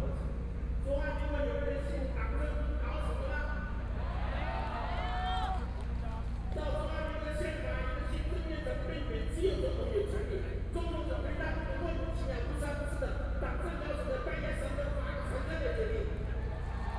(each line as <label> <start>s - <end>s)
Speech 0.0s - 3.8s
People cheering 3.9s - 6.8s
Speech 6.0s - 16.4s
People cheering 16.4s - 16.9s